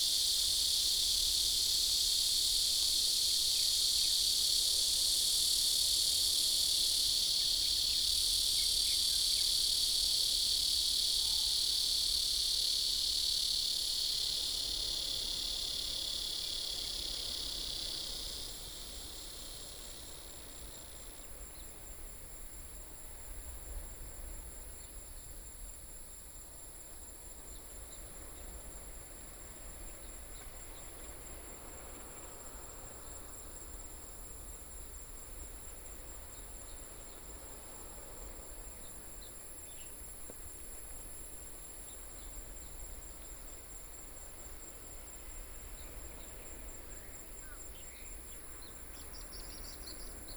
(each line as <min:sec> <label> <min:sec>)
0:00.0 Cicadas sound 0:50.3